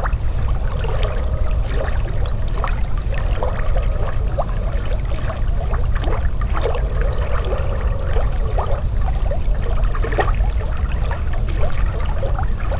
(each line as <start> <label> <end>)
0.0 river 12.7